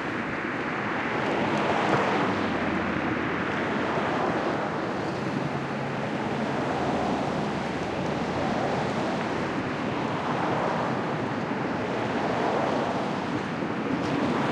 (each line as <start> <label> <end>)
0.7 Cars Passing 14.5